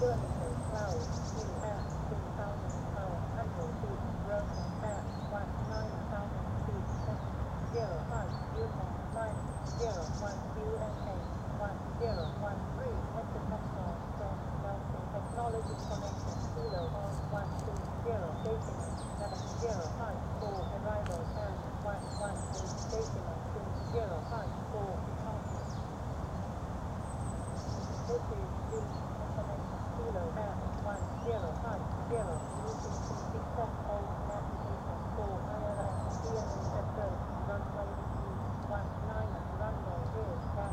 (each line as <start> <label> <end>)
0.0 airport information service 25.9
27.1 airport information service 40.7